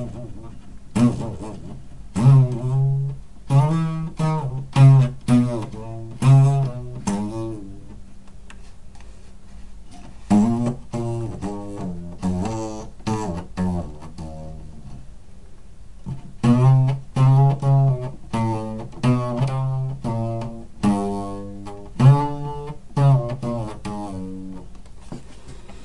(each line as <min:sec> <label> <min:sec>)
0:00.0 homemade wall cubby guitar thingy 0:25.8
0:24.8 me standing up from my chair 0:25.8